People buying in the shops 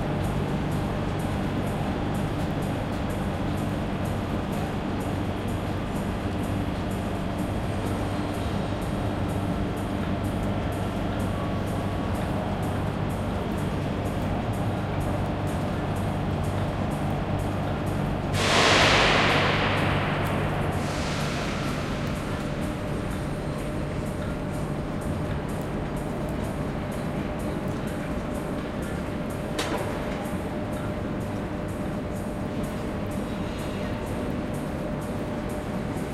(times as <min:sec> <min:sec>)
0:22.4 0:36.1